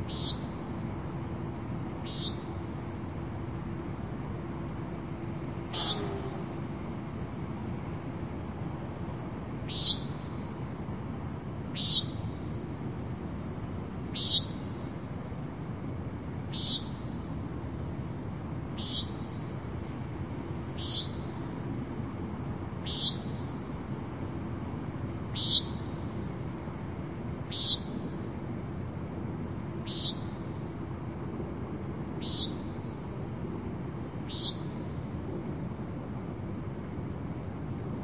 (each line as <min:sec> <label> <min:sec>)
0:00.0 bird calls 0:00.6
0:02.0 bird calls 0:02.8
0:05.6 bird calls 0:06.6
0:09.7 bird calls 0:10.5
0:11.8 bird calls 0:12.4
0:14.1 bird calls 0:14.9
0:16.5 bird calls 0:17.2
0:18.8 bird calls 0:19.4
0:20.8 bird calls 0:21.5
0:22.8 bird calls 0:23.5
0:25.3 bird calls 0:26.0
0:27.5 bird calls 0:28.1
0:29.8 bird calls 0:30.6
0:32.2 bird calls 0:32.9
0:34.3 bird calls 0:35.0